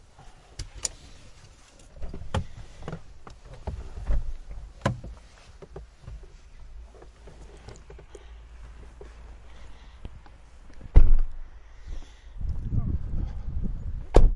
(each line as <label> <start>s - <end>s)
getting out of Hyundai I30 0.6s - 12.3s